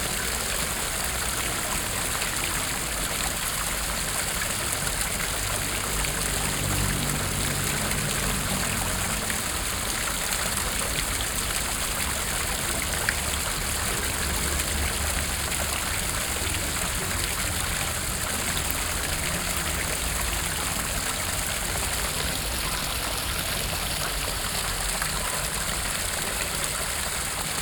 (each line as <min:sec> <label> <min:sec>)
0:00.0 Fountain 0:27.6